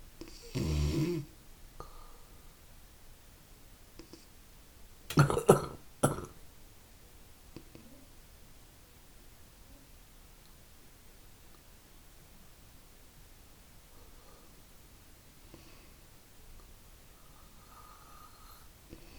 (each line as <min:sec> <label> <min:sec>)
0:01.8 breathing in the night 0:02.7
0:13.8 breathing in the night 0:14.7
0:15.4 breathing in the night 0:16.1
0:17.0 breathing in the night 0:19.1